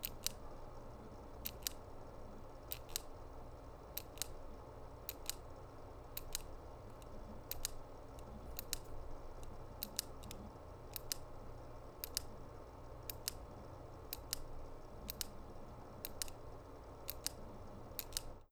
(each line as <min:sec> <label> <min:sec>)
0:00.0 Plastic clicking 0:00.4
0:01.4 Plastic clicking 0:01.8
0:02.7 Plastic clicking 0:03.2
0:04.0 Plastic clicking 0:04.5
0:05.1 Plastic clicking 0:11.4
0:12.0 Plastic clicking 0:12.4
0:13.0 Plastic clicking 0:18.4